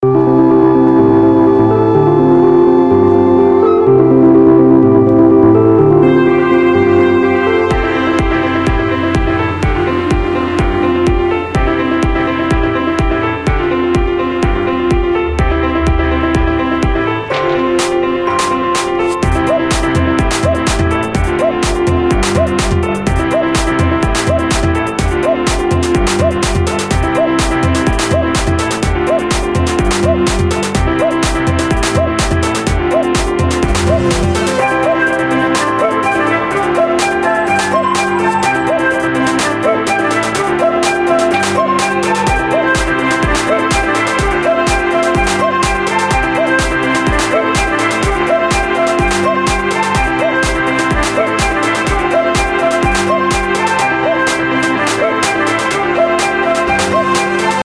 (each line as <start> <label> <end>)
0.0 music 57.6